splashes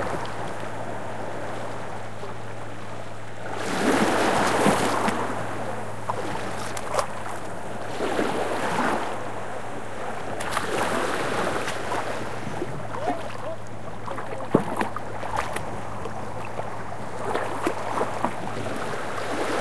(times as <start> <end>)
3.6 9.1, 10.3 19.6